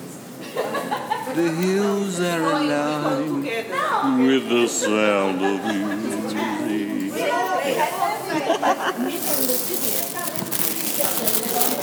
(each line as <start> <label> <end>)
9.0 unwrapping biscuits 11.8